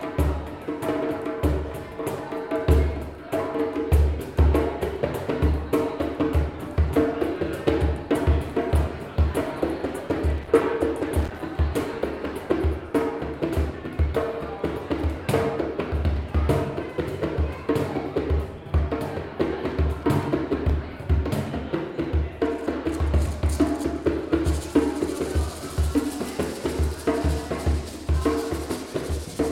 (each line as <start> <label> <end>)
0.0 jamming session going on the drums 29.5